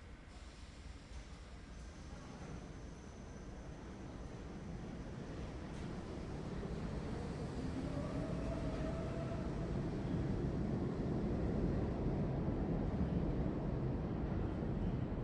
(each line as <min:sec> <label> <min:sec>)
0:00.0 subway entering and leaving a midtown station 0:15.2